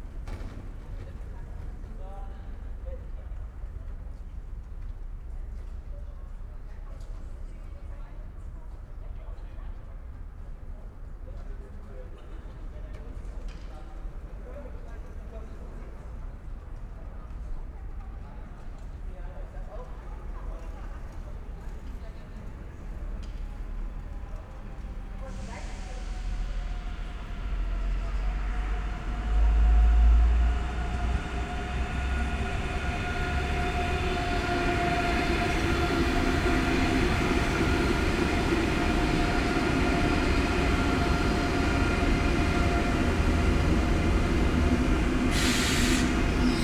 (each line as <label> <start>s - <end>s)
ICE high speed train arrives and stops 0.0s - 46.6s
heavily squeaking brakes 45.3s - 46.6s